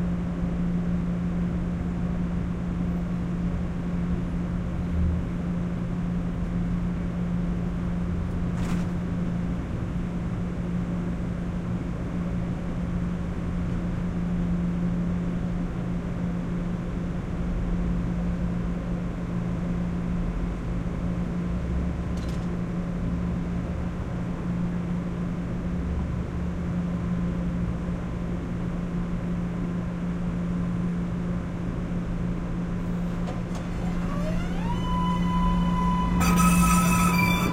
32.8s T train stopping 37.5s

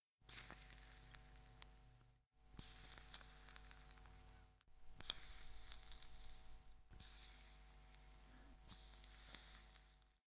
0.2s Popcorn makes a little sizzling sound 1.6s
2.6s Popcorn makes a little sizzling sound 4.2s
5.0s Popcorn makes a little sizzling sound 7.8s
8.6s Popcorn makes a little sizzling sound 10.2s

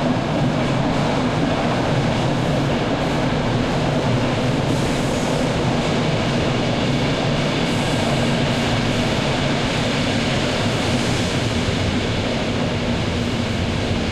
0.0s Trains pass by 14.1s

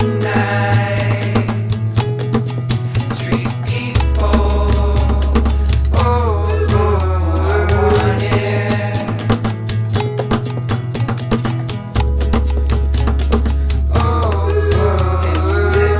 0.0s vocal loops 10.1s
0.0s acoustic guitar 15.9s
0.0s bass 15.9s
0.0s drum beat 15.9s
13.5s vocal loops 15.9s

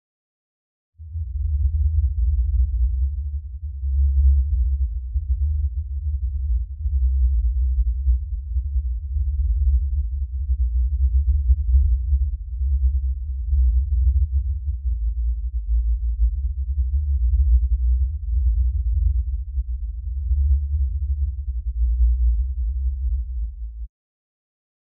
1.0s Rumble 23.9s

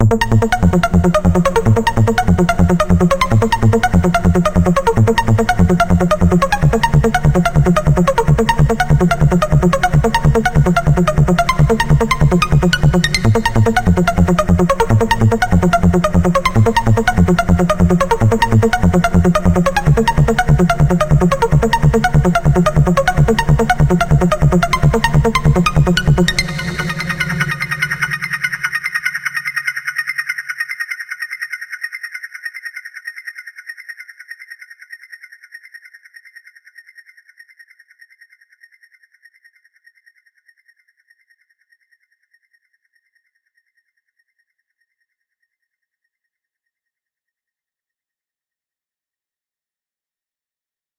0.0s Bass 28.7s

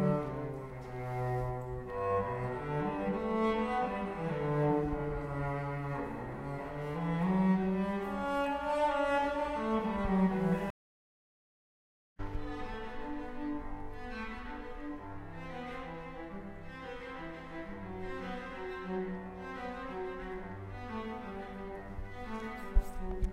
0.0s cello being played 10.7s
12.2s cello being played 23.3s

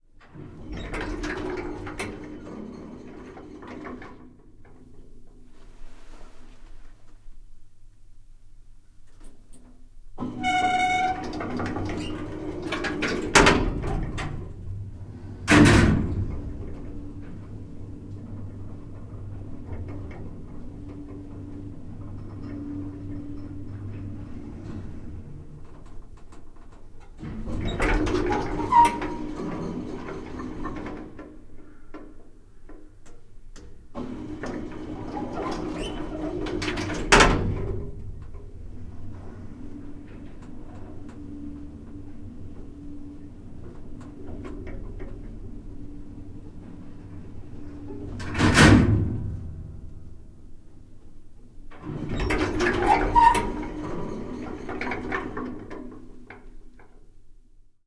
0.2s elevator 6.2s
10.2s elevator 31.8s
33.6s elevator 57.1s

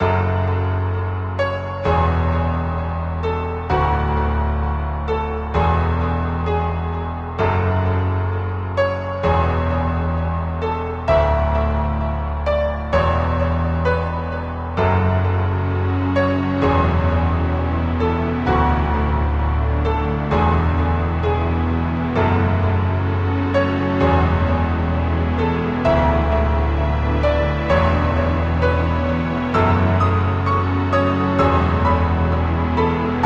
0.0s Sad Piano Remix 33.2s

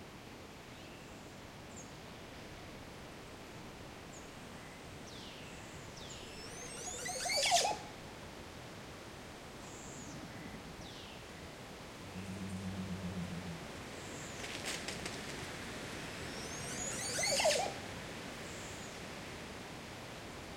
12.0s Oropendolo 15.2s

